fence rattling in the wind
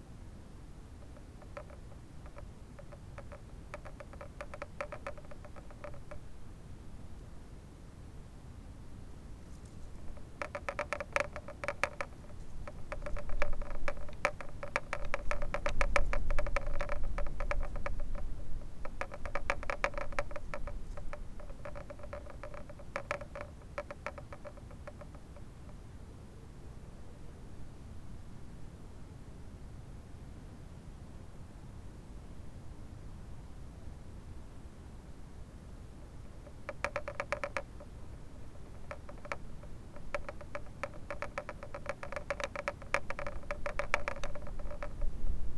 0:01.0 0:06.4, 0:09.4 0:25.8, 0:36.2 0:45.5

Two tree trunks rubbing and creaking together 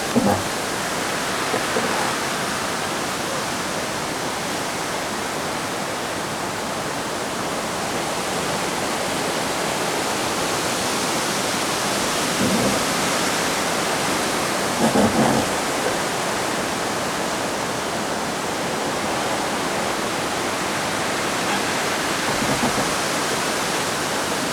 0:00.0 0:02.9, 0:12.2 0:13.5, 0:14.8 0:16.1, 0:21.4 0:23.8

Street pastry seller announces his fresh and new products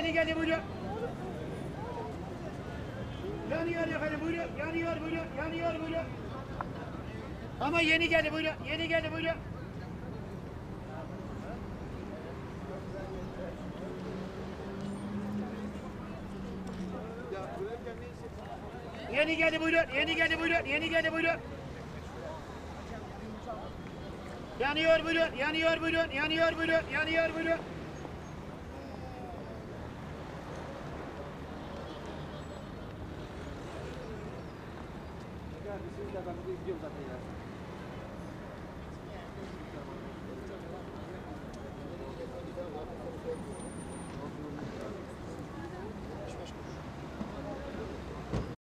0:00.0 0:27.9

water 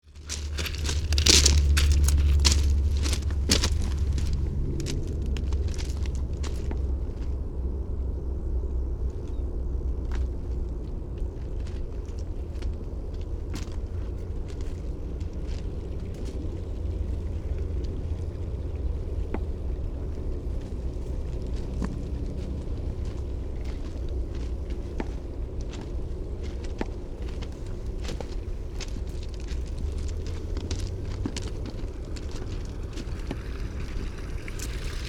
0:13.3 0:26.1, 0:26.7 0:35.0

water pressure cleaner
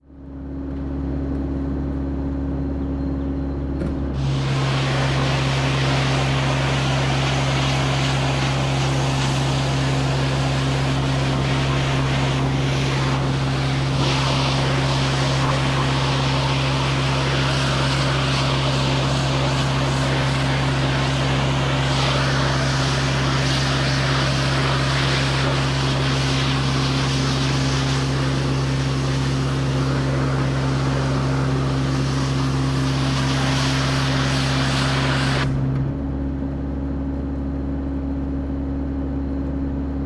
0:04.2 0:35.8

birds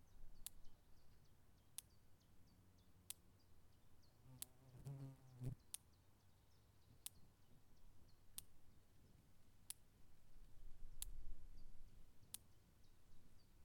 0:00.0 0:08.8

